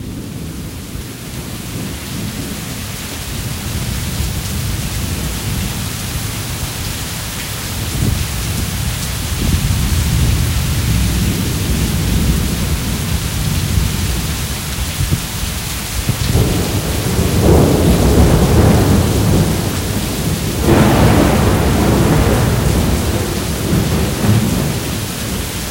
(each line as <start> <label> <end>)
0.0 rain 25.7
0.0 wind 25.7
16.1 thunder 25.7